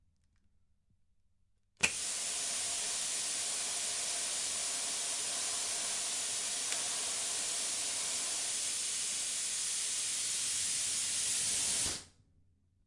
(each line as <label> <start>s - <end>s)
Plasma cutter gas 1.8s - 12.1s